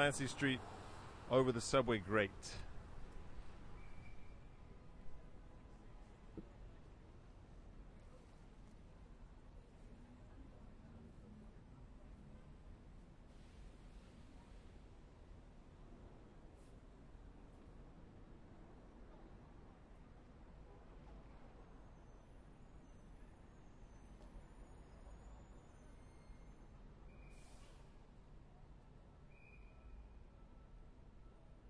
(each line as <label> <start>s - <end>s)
train went by underneath 0.0s - 5.3s